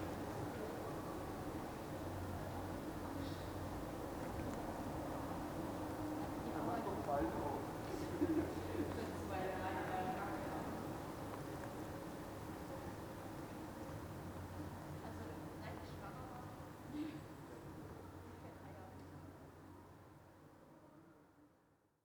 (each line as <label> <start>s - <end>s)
cyclists 0.0s - 21.1s
night traffic 0.0s - 21.9s